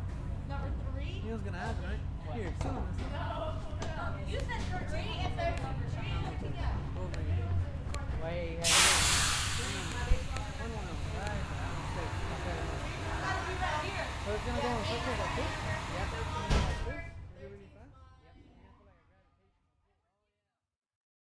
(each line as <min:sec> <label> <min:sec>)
0:00.0 engines 0:16.9
0:00.5 people 0:19.2
0:08.6 air compressor 0:16.8
0:16.4 door closes 0:16.9